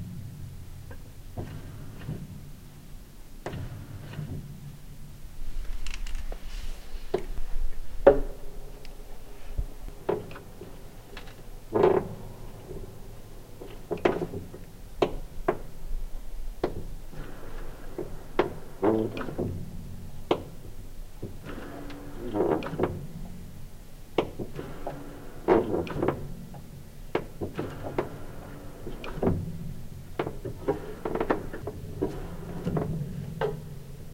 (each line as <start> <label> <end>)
5.6 Upright Piano Creaks 8.4